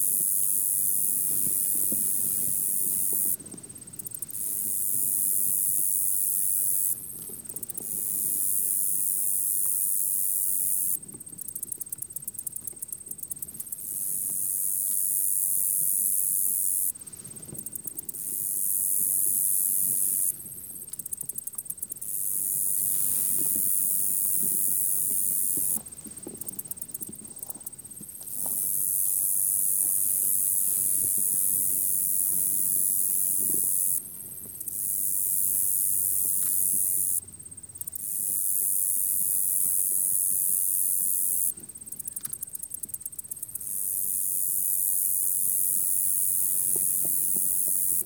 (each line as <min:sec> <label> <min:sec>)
0:00.0 insect chorus 0:48.0